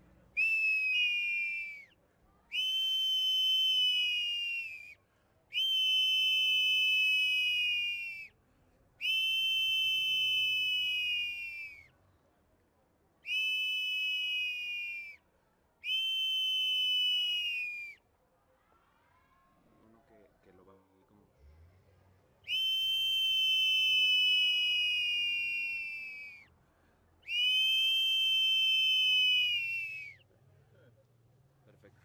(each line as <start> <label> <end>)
22.5 Ocarina 26.5
27.3 Ocarina 30.2